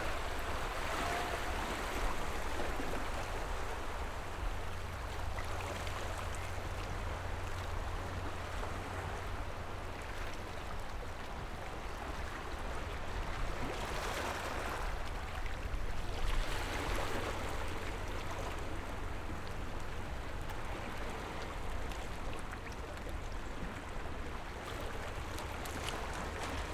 waves 0:00.0 - 0:26.7

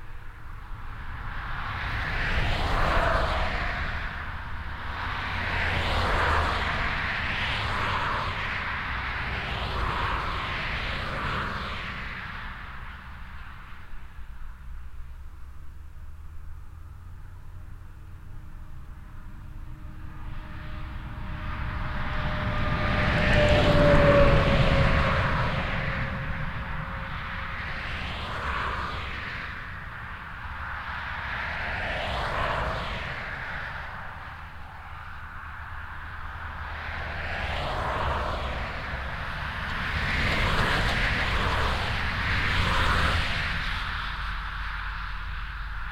Traffic on the highwaylike E 421 0:00.0 - 0:45.9

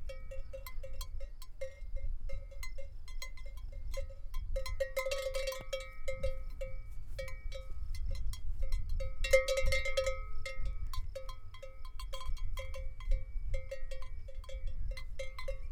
horse with a bell on its neck is eating grass 0:00.0 - 0:15.7

